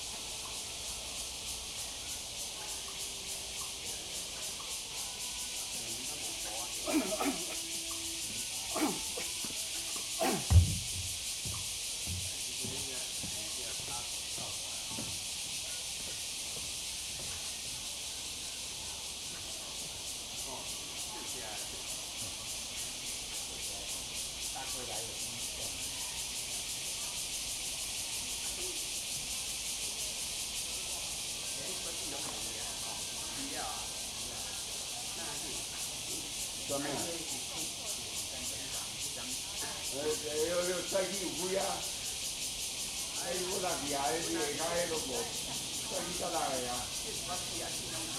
0.0s group of old people talking 10.7s
0.0s Cicadas cry 48.1s
2.0s frog 10.6s
6.8s Bird calls 10.6s
6.8s people doing aerobics 8.0s
8.7s people doing aerobics 9.5s
10.1s people doing aerobics 10.6s
11.4s group of old people talking 48.1s

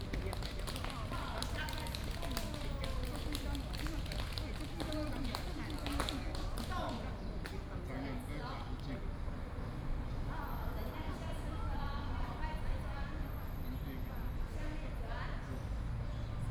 0.0s Group of elderly people doing aerobics 8.0s

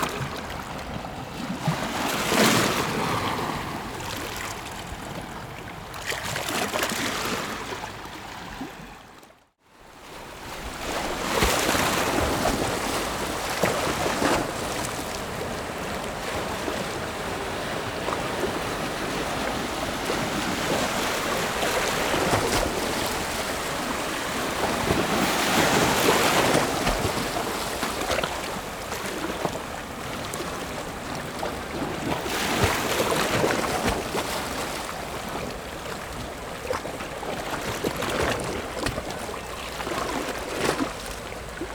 0.0s waves 41.7s

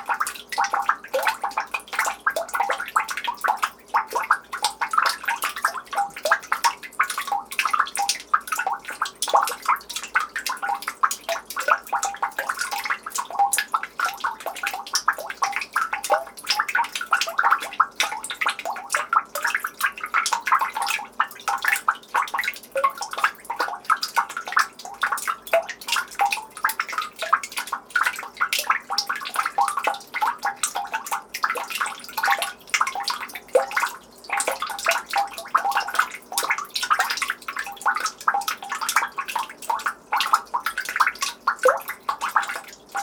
0.0s Rhythmic drops of melting snow in the street trough a manhole 43.0s

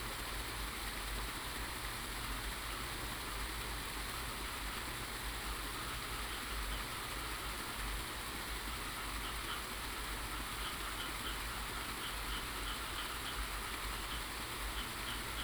10.6s Frog croak 15.4s

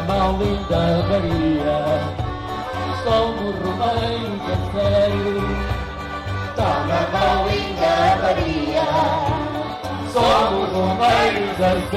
0.0s Folk band family 11.9s

